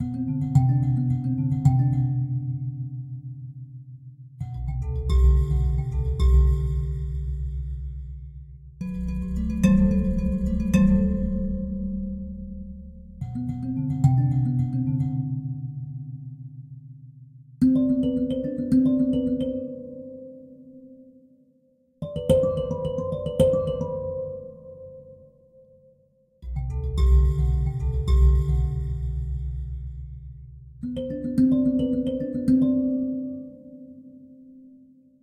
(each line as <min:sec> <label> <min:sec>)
0:04.5 mbira 0:15.2
0:26.4 mbira 0:33.9